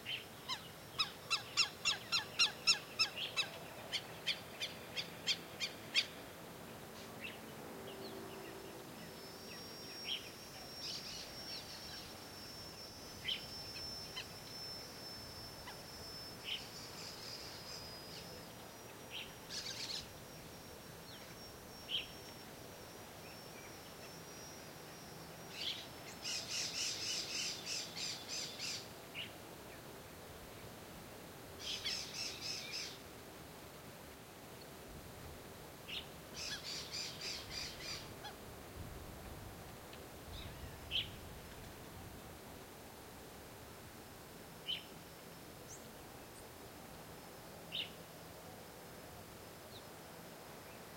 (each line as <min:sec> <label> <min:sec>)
0:00.0 variety of birds 0:29.9
0:31.6 variety of birds 0:33.0
0:35.9 variety of birds 0:38.4
0:40.3 variety of birds 0:41.6